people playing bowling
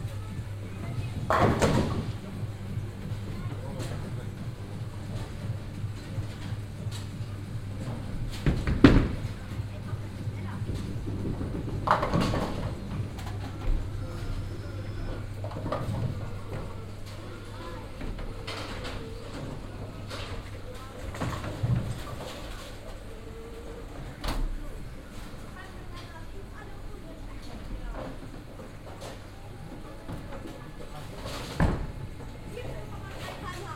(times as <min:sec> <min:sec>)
0:00.0 0:25.4